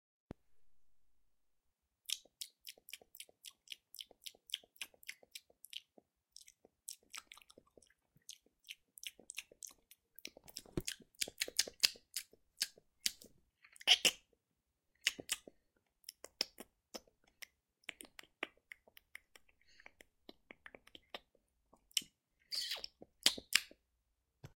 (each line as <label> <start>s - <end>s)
boi smacking their lips 2.1s - 14.3s
boi smacking their lips 15.0s - 23.8s